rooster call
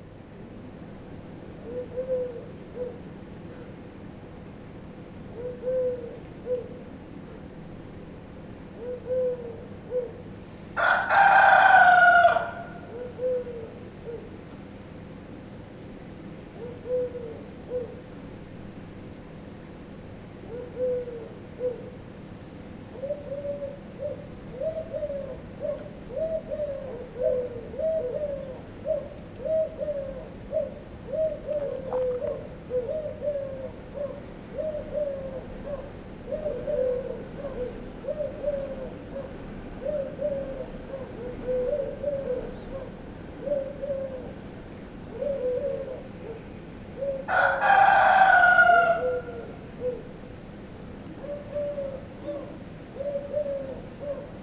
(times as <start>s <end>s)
10.8s 12.9s, 47.3s 49.6s